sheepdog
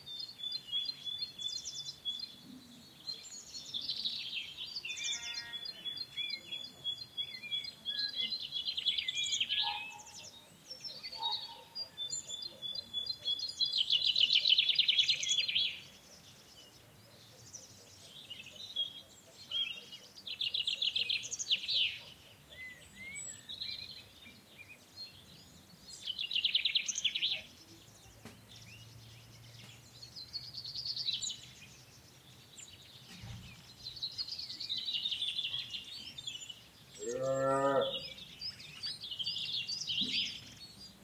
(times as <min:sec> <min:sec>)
0:09.6 0:13.4